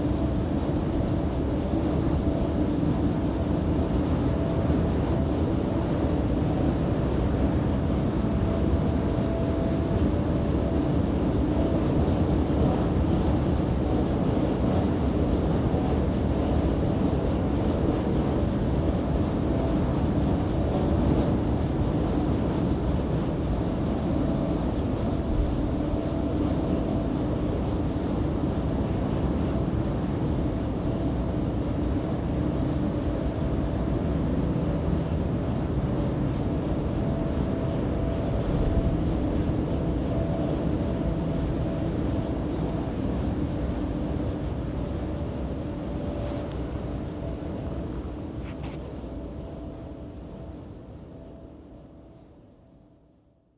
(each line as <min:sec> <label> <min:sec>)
0:00.0 wind passing through it 0:52.5